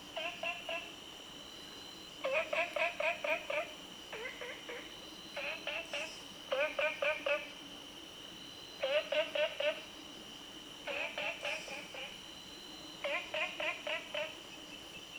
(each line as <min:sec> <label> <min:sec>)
0:00.2 Frog Sound 0:00.9
0:02.2 Frog Sound 0:07.5
0:08.8 Frog Sound 0:09.9
0:10.9 Frog Sound 0:12.2
0:13.0 Frog Sound 0:14.4